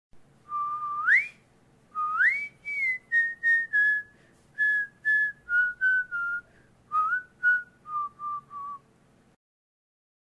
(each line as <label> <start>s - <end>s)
BP Whistle Song 0.5s - 1.4s
BP Whistle Song 2.0s - 8.8s